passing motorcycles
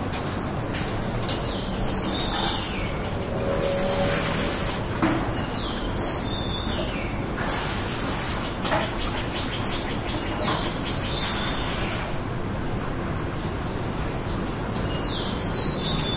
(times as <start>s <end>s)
2.9s 4.9s